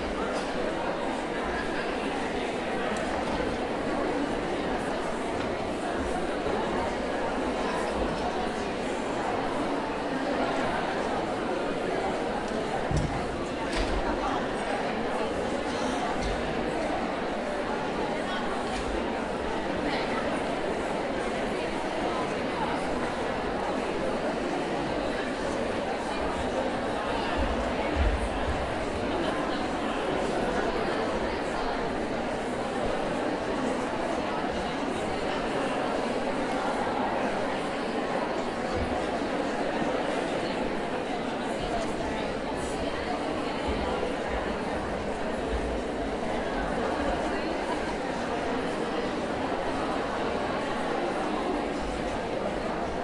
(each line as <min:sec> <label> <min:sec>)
0:00.0 crowd noise 0:53.0